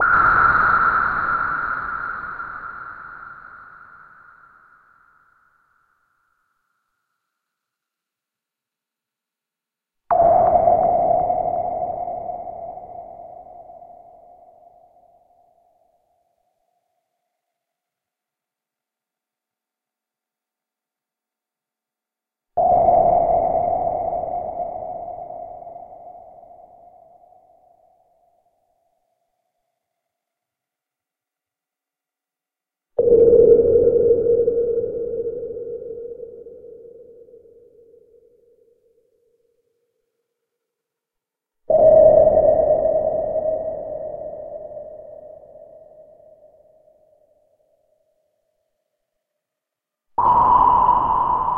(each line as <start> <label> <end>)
0.0 sonar pings at various pitches 7.7
10.1 sonar pings at various pitches 18.0
22.6 sonar pings at various pitches 30.4
33.0 sonar pings at various pitches 40.4
41.6 sonar pings at various pitches 49.4
50.1 sonar pings at various pitches 51.5